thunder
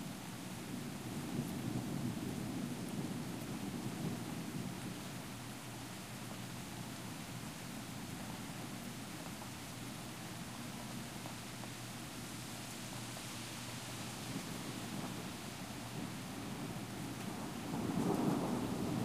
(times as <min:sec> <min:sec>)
0:15.9 0:19.0